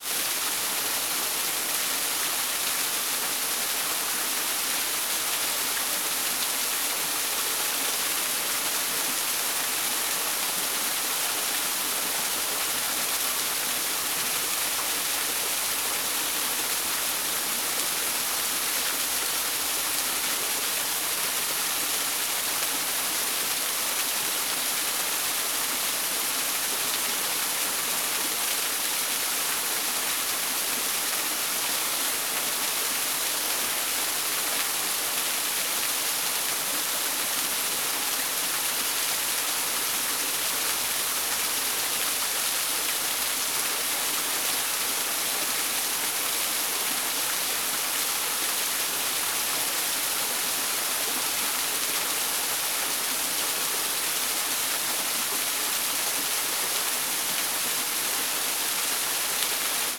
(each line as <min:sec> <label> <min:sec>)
0:00.0 small waterfall 0:59.9